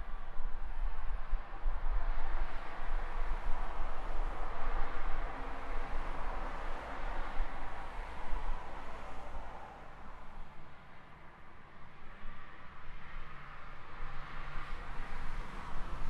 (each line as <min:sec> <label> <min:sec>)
0:00.0 Traffic rushing in and out the city 0:16.0